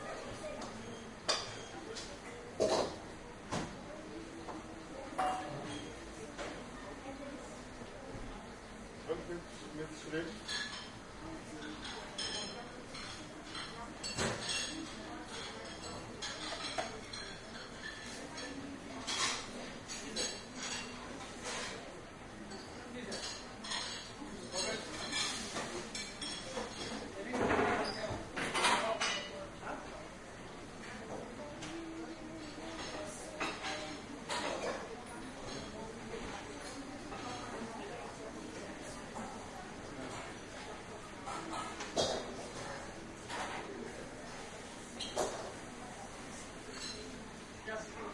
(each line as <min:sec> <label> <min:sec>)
0:00.0 people eating and chatting 0:48.1